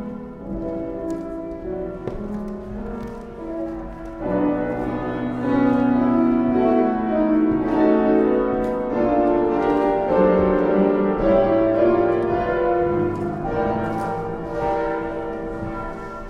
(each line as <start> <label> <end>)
8.2 church bells 16.2